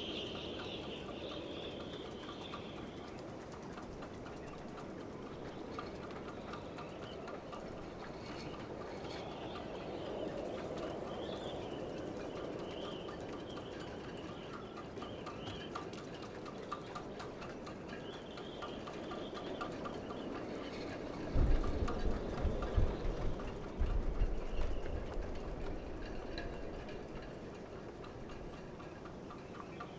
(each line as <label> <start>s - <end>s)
wind blows through the riggings of the ships 0.0s - 29.9s